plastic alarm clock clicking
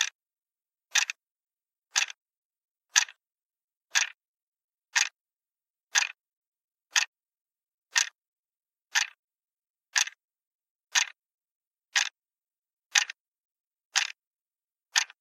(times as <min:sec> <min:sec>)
0:00.9 0:01.2, 0:01.9 0:02.2, 0:02.9 0:03.2, 0:03.9 0:04.2, 0:04.9 0:05.2, 0:05.9 0:06.2, 0:06.9 0:07.1, 0:07.9 0:08.2, 0:08.9 0:09.2, 0:09.9 0:10.2, 0:10.9 0:11.2, 0:11.9 0:12.2, 0:12.9 0:13.2, 0:13.9 0:14.2, 0:14.9 0:15.2